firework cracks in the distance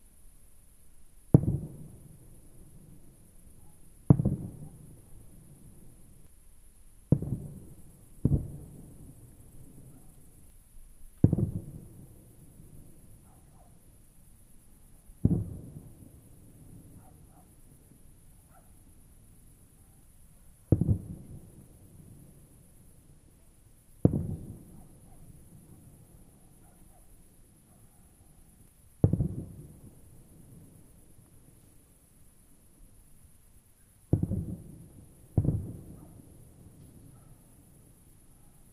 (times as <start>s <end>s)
1.3s 6.4s, 7.0s 13.8s, 15.0s 18.8s, 20.6s 27.2s, 28.4s 31.9s, 34.0s 38.0s